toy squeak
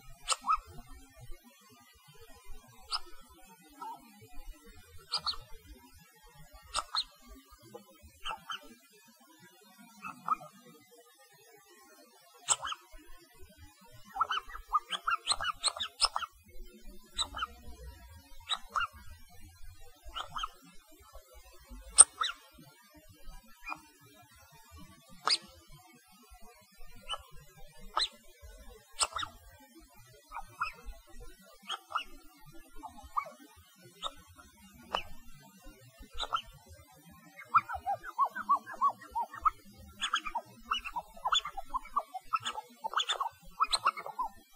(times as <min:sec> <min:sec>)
0:00.2 0:00.8, 0:02.9 0:04.1, 0:05.0 0:05.6, 0:06.7 0:07.5, 0:08.2 0:08.7, 0:10.0 0:10.5, 0:12.4 0:13.0, 0:14.0 0:16.4, 0:17.2 0:17.6, 0:18.3 0:19.1, 0:20.0 0:20.7, 0:21.9 0:22.5, 0:23.6 0:23.8, 0:25.2 0:25.5, 0:27.0 0:28.2, 0:28.9 0:29.4, 0:30.2 0:35.4, 0:36.0 0:36.6, 0:37.2 0:44.5